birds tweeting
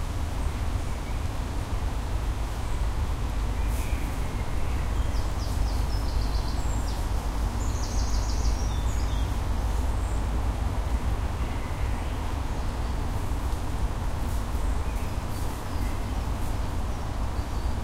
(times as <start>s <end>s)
3.6s 10.3s, 14.5s 17.8s